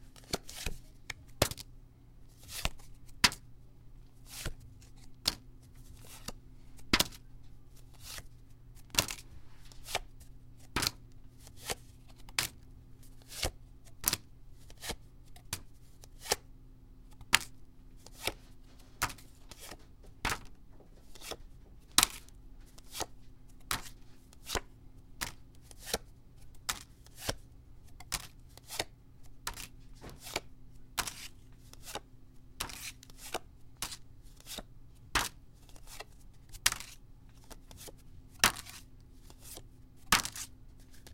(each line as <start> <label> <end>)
8.9 throwing cards one by one into a piece of printer paper 10.1
18.1 throwing cards one by one into a piece of printer paper 26.0
28.0 throwing cards one by one into a piece of printer paper 32.0
32.6 throwing cards one by one into a piece of printer paper 41.1